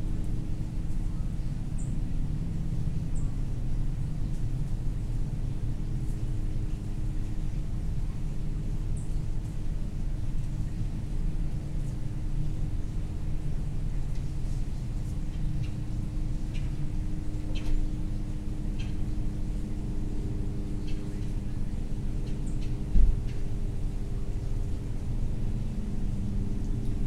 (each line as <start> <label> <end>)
0.0 vehicles 27.0
15.1 birds 19.7
20.7 birds 23.5